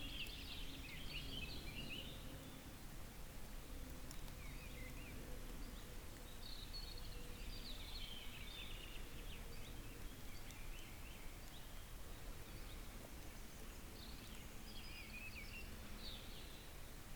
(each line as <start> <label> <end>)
0.0 Walking uphill the forest path 17.1